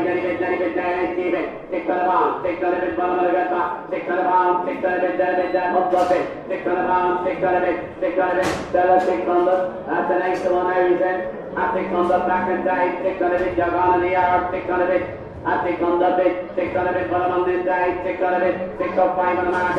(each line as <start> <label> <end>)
0.0 auctioneers voice 19.7